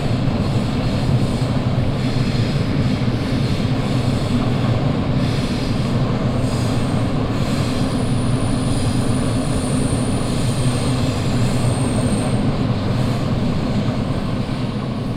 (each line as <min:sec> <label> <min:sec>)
0:00.0 trams and different types of trains passing by in different speeds 0:15.1